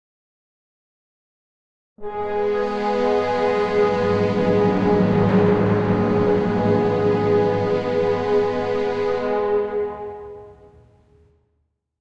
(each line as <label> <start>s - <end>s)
final chord 2.0s - 11.2s